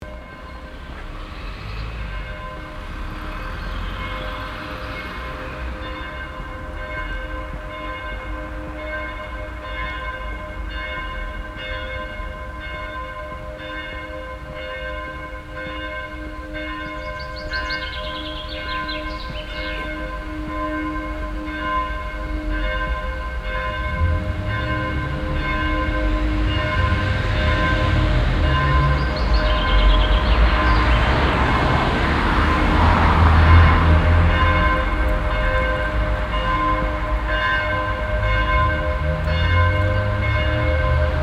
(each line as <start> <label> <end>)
0.0 street traffic 41.2
0.0 12 o clock bells 41.2